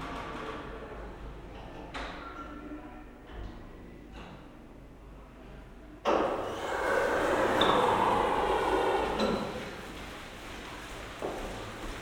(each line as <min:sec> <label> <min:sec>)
0:06.2 automatic doorway at the main entrance 0:12.0